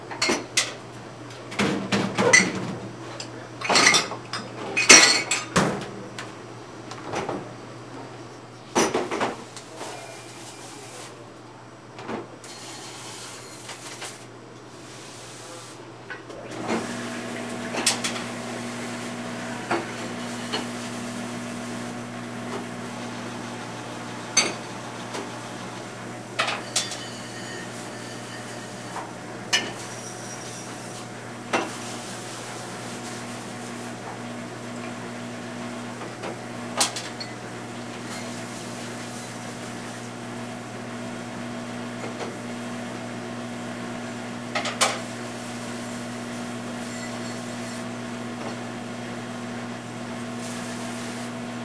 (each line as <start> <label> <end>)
16.7 water sprayer 24.2
31.7 water sprayer 33.9
50.2 water sprayer 51.4